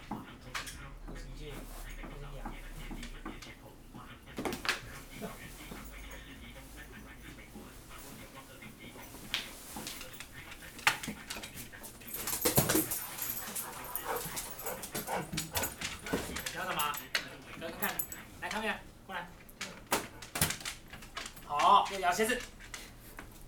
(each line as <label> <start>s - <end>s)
Guide dog and owner 0.0s - 23.4s